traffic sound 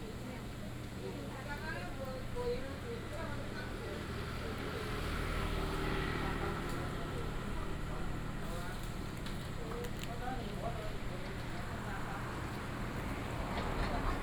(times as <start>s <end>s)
4.0s 14.2s